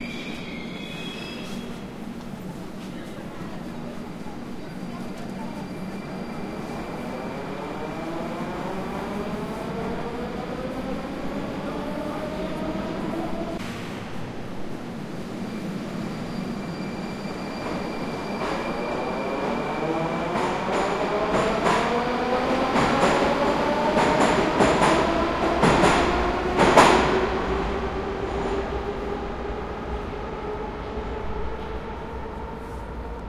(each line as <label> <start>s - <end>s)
train 0.0s - 33.2s
people 1.4s - 7.2s